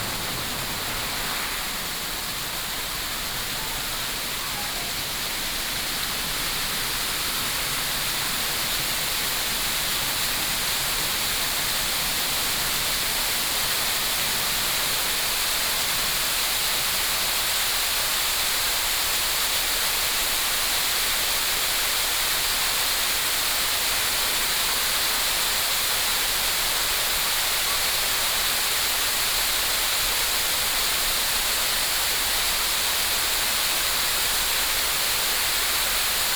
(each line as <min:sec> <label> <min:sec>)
0:00.0 Fountain 0:36.3